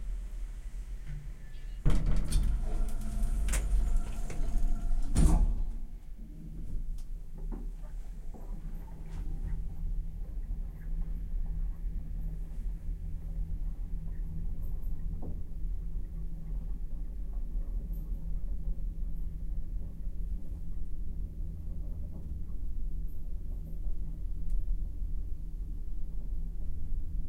Elevator moves 10 floors then it stops 0.0 - 9.4
door 1.8 - 5.8

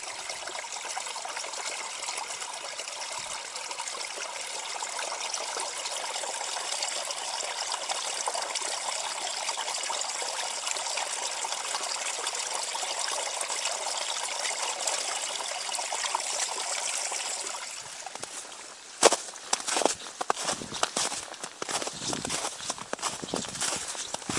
streams of water appearing from the melting snow 0.0 - 24.3
walking in snow 18.1 - 24.3

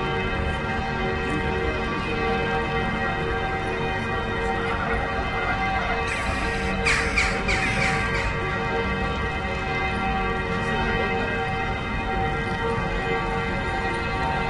church bells 0.0 - 14.4
people walking and talking 0.0 - 14.4
traffic 3.5 - 14.4
birds 6.1 - 8.4

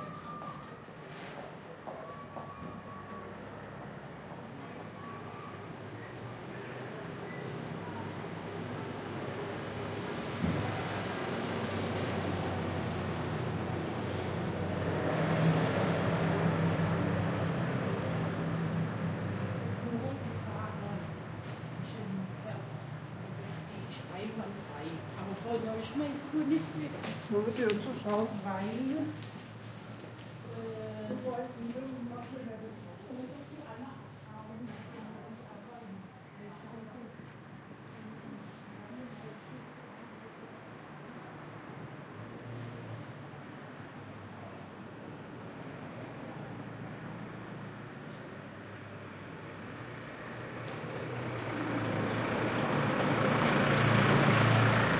Pedestrians 0.0 - 54.9
cars 7.1 - 30.4
cars 40.8 - 54.9

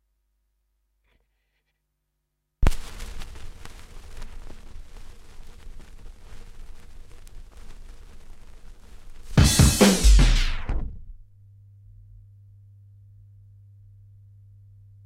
Vinyl crackle 2.6 - 12.3
hum 2.6 - 15.0

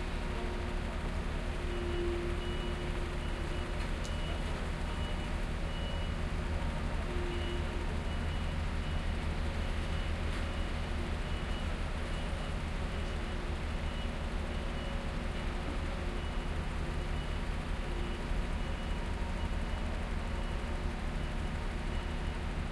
Noisy Construction Site 0.0 - 22.7
Traffic 0.0 - 22.7
Truck 0.0 - 22.7

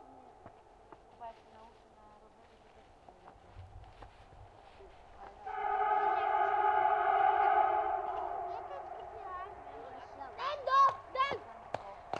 passing by train 5.4 - 12.1
traffic 5.4 - 12.1

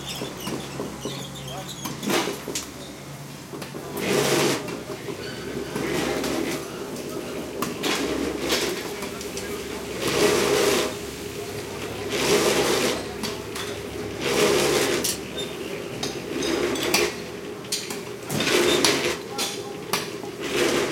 chatter 0.0 - 20.9
light, offmic traffic 0.0 - 20.9
bandsaw cutting stuff 3.9 - 6.6
bandsaw cutting stuff 7.6 - 11.0
bandsaw cutting stuff 12.0 - 15.3
bandsaw cutting stuff 17.8 - 20.9

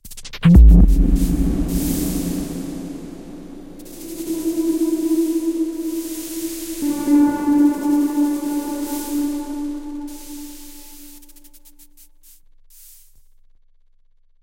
space impact 0.4 - 10.7

